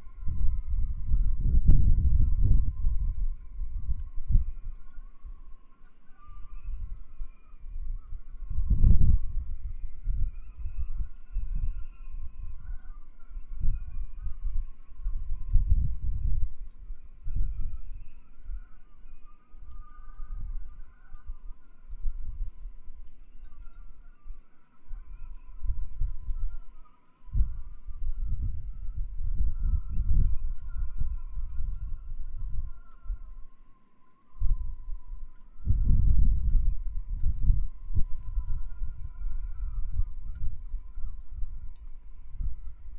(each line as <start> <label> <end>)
0.0 wind in the halyards 42.9